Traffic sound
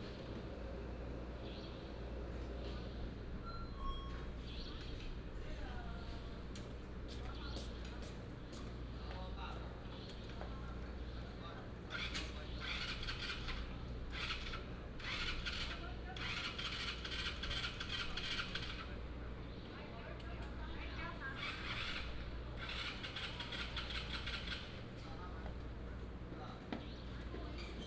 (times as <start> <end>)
21.0 25.9